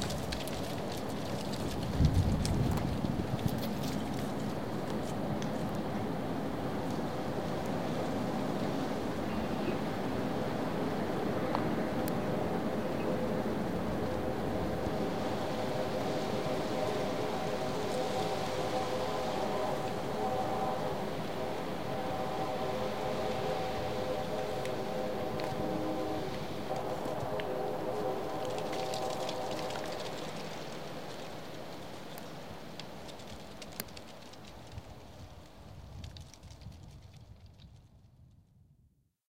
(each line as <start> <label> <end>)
0.0 wind blowing through oak tree branches 38.2
27.9 rattling dead leaves 37.4